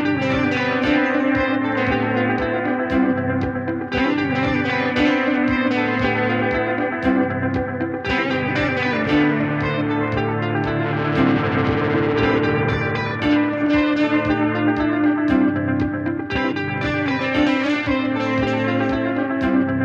0.0s electric guitar 19.8s

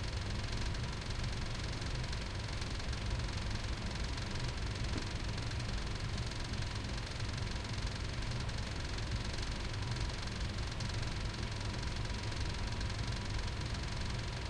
0.0s rattle of the air conditioner 14.4s

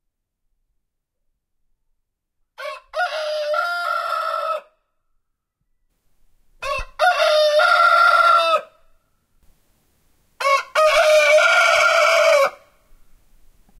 2.6s Rooster crowing 4.8s
6.6s Rooster crowing 8.8s
10.4s Rooster crowing 12.8s

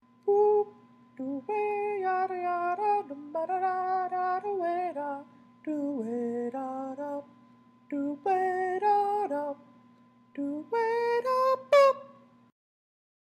0.3s male falsetto singing jazzy tune 7.3s
7.9s male falsetto singing jazzy tune 9.6s
10.4s male falsetto singing jazzy tune 12.3s

